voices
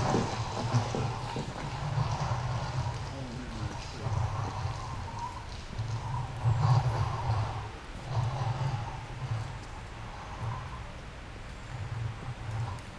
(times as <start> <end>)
0.0 5.6